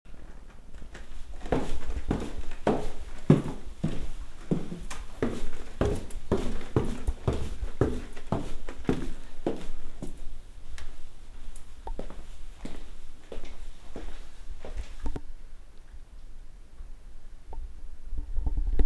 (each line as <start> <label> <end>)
0.1 walking down stairs 15.1